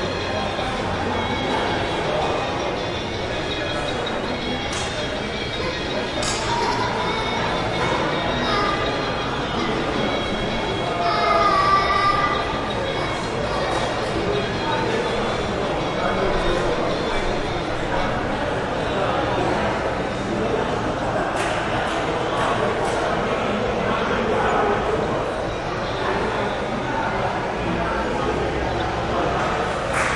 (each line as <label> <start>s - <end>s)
busy activity echo 0.0s - 30.1s